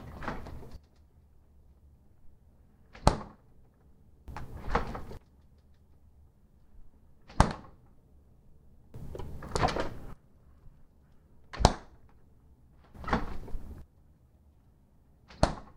refrigerator door opens and closes 0.0 - 0.8
refrigerator door opens and closes 4.3 - 5.2
refrigerator door opens and closes 7.2 - 7.8
refrigerator door opens and closes 9.0 - 10.2
refrigerator door opens and closes 12.9 - 13.8
refrigerator door opens and closes 15.3 - 15.7

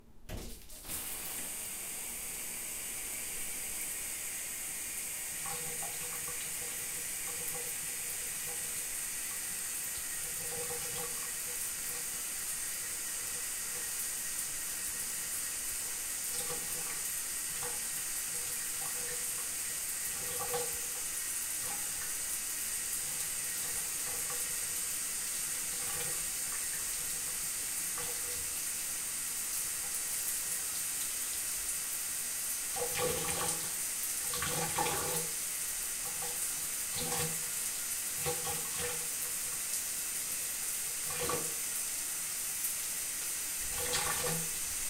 shower 0.3 - 44.8

